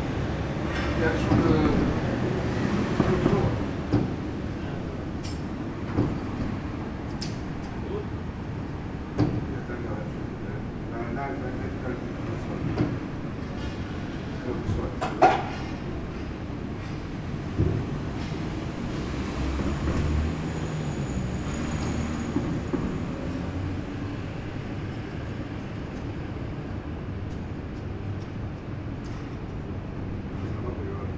workers 0:00.0 - 0:31.1

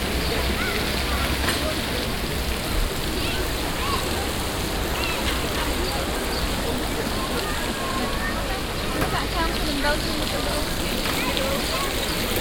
art fountain with moving objects 0:00.0 - 0:12.4
people 0:00.0 - 0:12.4

